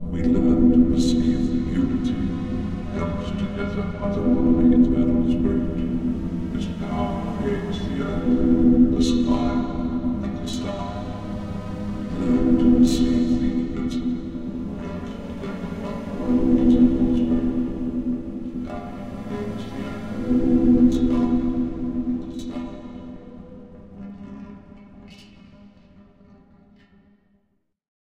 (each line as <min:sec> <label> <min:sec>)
0:00.0 increasingly distorted voice 0:24.4
0:00.0 synth 0:26.4
0:00.0 orchestral background 0:23.2